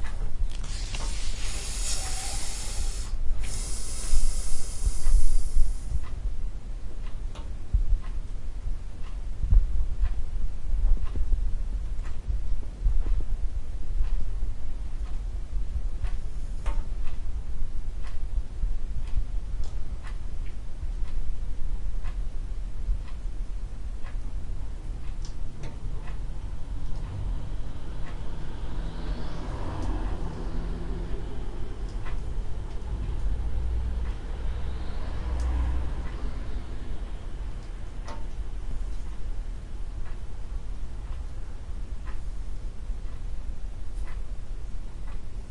ticking clock 25.0 - 29.2
cars passing 27.1 - 37.5
ticking clock 29.8 - 42.4
ticking clock 44.0 - 45.3

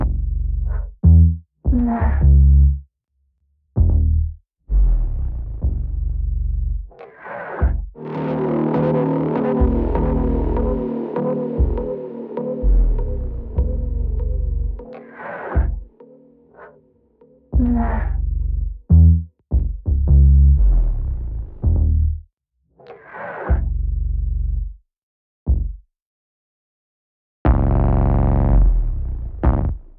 BASS 0.0 - 16.0
BASS 17.5 - 22.3
BASS 23.1 - 24.8
BASS 25.5 - 25.9
BASS 27.4 - 29.9

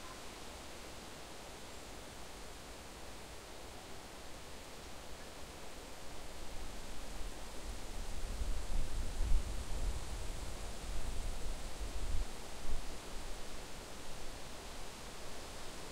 Wind in the trees 5.8 - 15.9

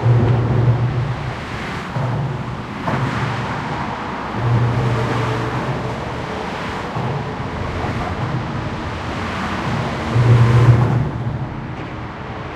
cars and trucks passing directly by the recorder 0.0 - 12.5

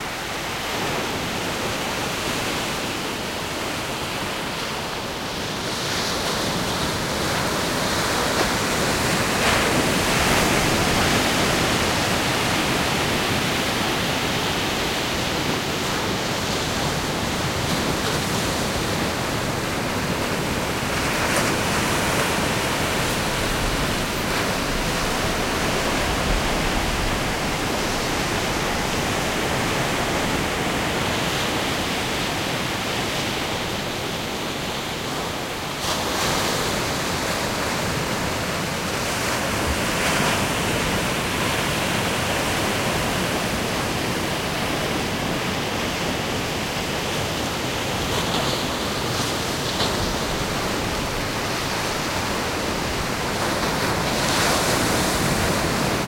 Ocean waves 0.0 - 56.0

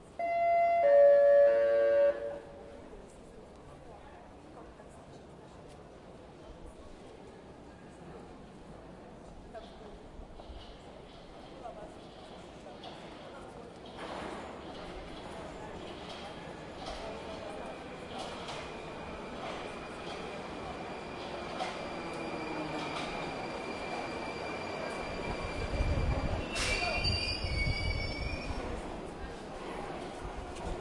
train arrival 0.0 - 3.3
noise wind from the train 0.0 - 30.8
train arrival 10.4 - 30.8

